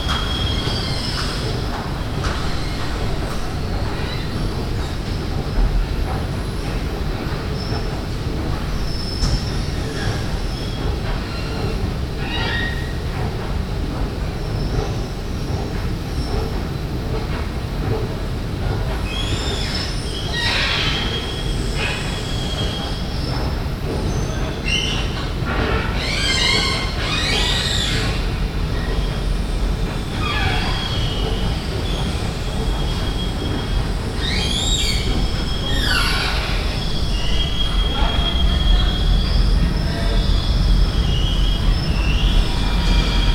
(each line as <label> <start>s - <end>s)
Creaking Escalator 29.8s - 43.3s